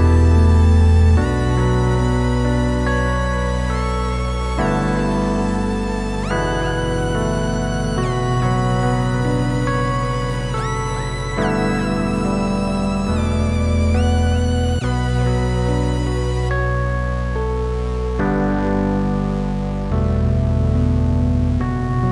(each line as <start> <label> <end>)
0.0 synth 22.1